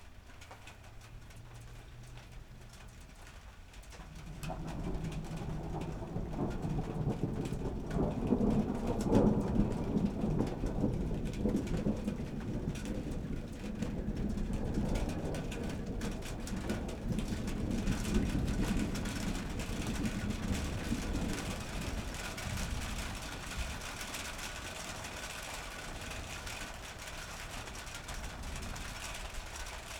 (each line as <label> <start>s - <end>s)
rain light to heavy on a metal roof 0.0s - 29.9s
near and far thunder 4.0s - 29.9s